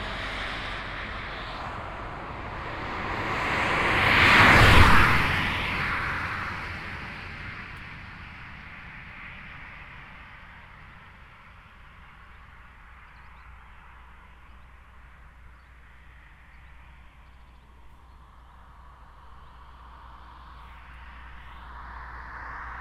different kind of cars 0:00.0 - 0:07.9
motorbike passing by in both directions of the street 0:00.0 - 0:12.1

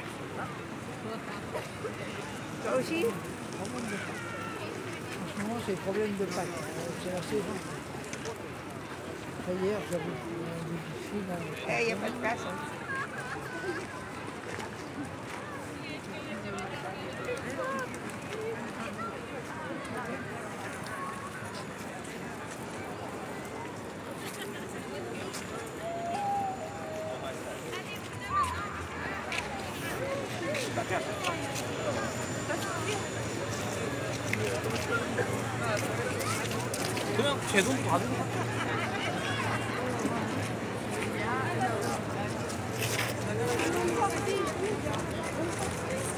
tourists waiting in front of the Notre-Dame cathedral 0:00.0 - 0:46.1

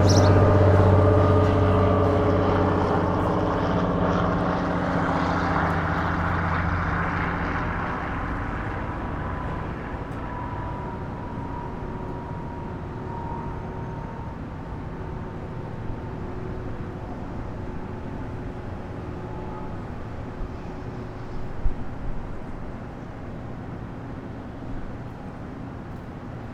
birds 0:00.0 - 0:00.6
occasional traffic 0:00.0 - 0:26.5

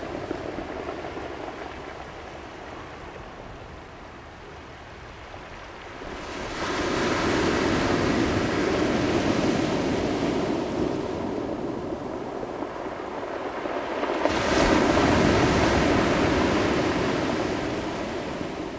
Waves 0:05.0 - 0:18.7

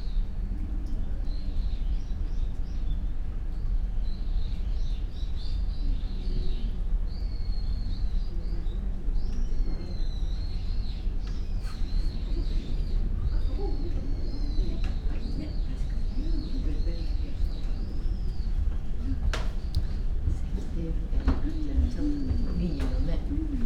murmur of people 0:05.4 - 0:23.6

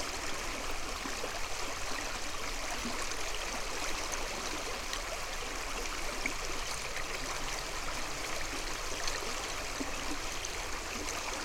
the river 0:00.0 - 0:11.4

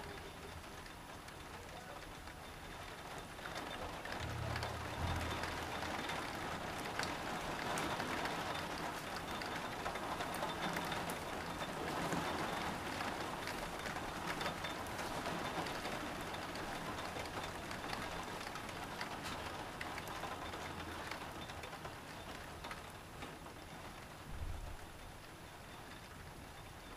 heavy rain shower 0:00.0 - 0:26.9

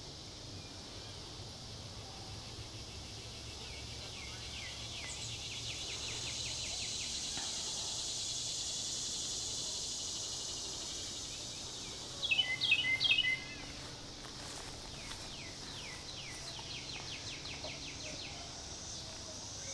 cicadas 0:00.0 - 0:19.7
Birdsong 0:09.9 - 0:19.7

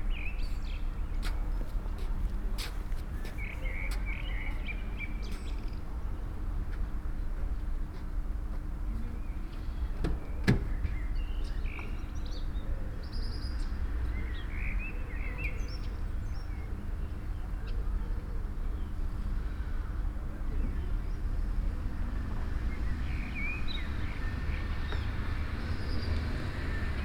old man walking slowly 0:00.4 - 0:10.0

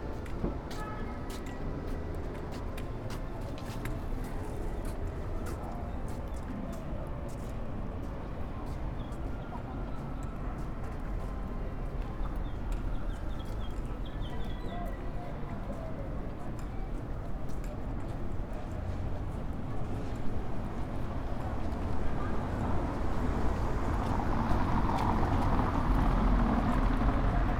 Walking down Madero street 0:00.0 - 0:27.5

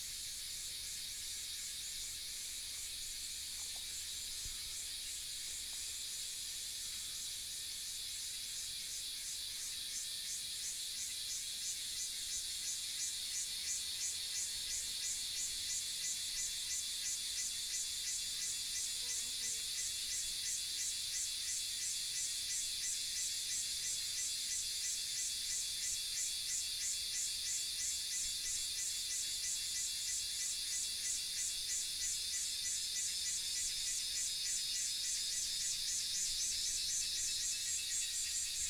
Cicadas cry 0:00.1 - 0:38.6

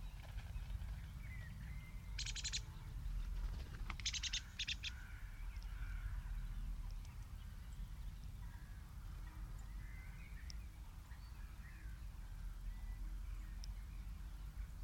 birds' flight and fluttering movement ruffling close to the microphones 0:00.0 - 0:01.6
pheasants 0:00.0 - 0:14.8
skylarks 0:00.0 - 0:14.8
Wood pigeons call 0:02.2 - 0:06.2
birds' flight and fluttering movement ruffling close to the microphones 0:03.1 - 0:04.4
crows 0:04.0 - 0:06.3

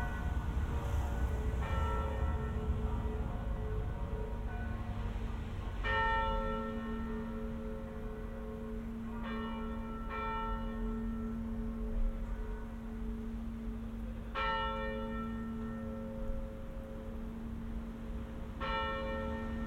church bells 0:00.0 - 0:19.6

